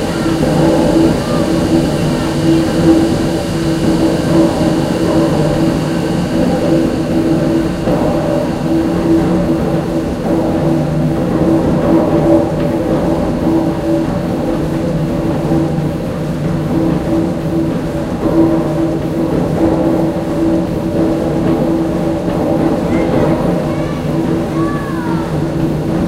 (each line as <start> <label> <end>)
0.0 steamengine 26.0